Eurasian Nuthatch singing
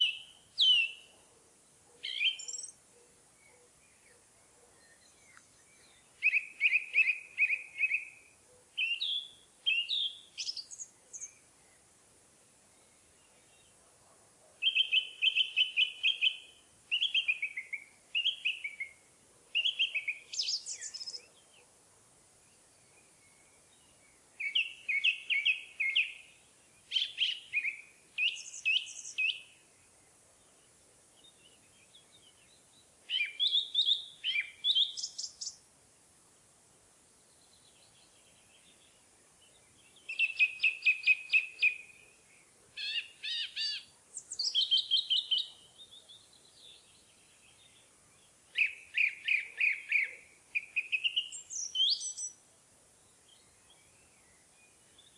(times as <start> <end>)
0.0 1.2, 2.0 2.8, 3.4 11.4, 14.6 19.0, 19.6 21.7, 23.0 29.6, 31.2 35.6, 39.5 42.0, 42.8 52.4